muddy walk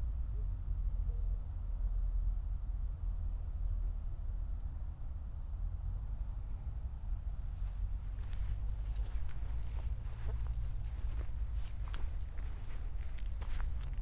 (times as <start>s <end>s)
7.4s 14.0s